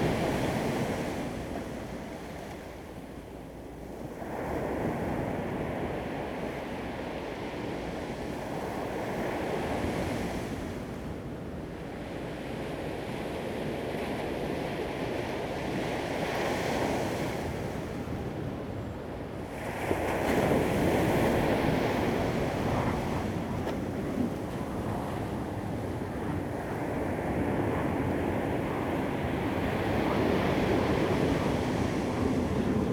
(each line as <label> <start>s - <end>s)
waves 0.0s - 32.9s